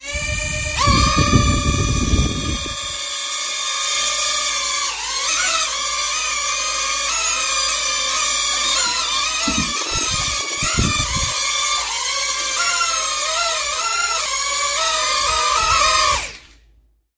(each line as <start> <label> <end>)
0.0 drone starting, flying around and stopping 16.6
0.0 fuzzy wind noise 3.0
9.4 fuzzy wind noise 11.5